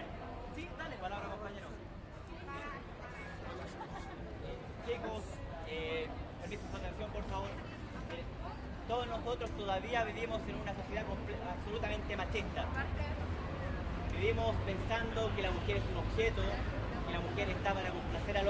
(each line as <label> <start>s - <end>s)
crowd 0.0s - 18.4s